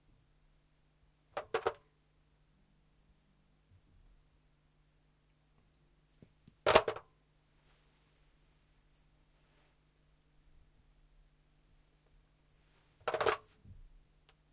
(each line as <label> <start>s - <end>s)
Picking up and hanging up a lightweight modern home or office telephone 1.4s - 1.8s
Picking up and hanging up a lightweight modern home or office telephone 13.0s - 13.5s